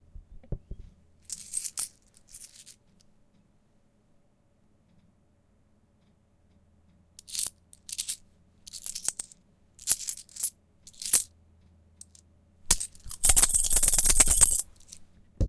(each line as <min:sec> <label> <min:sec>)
0:01.2 Handling Coins 0:02.8
0:07.2 Handling Coins 0:11.3
0:12.0 Handling Coins 0:15.0